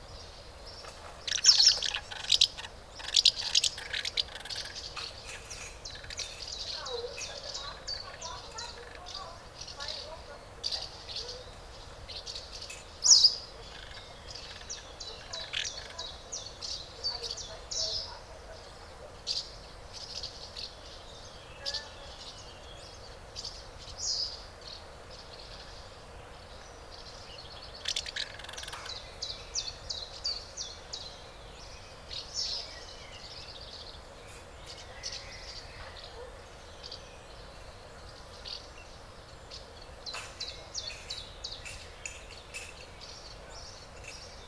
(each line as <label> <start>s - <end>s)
adult birds feed the nestlings 0.1s - 44.4s
other swallows fly curiously around the nest 0.2s - 20.7s